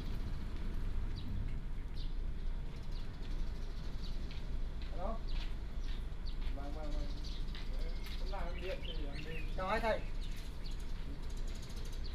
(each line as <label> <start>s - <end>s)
Birds sound 5.0s - 12.1s